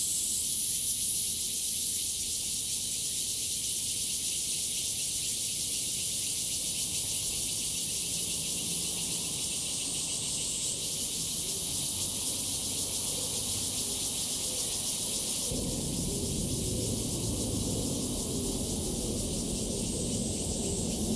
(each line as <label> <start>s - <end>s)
Cicadas chirping 0.0s - 21.1s